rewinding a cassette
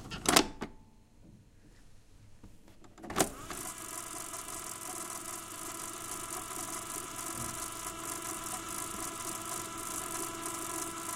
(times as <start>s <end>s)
3.1s 11.1s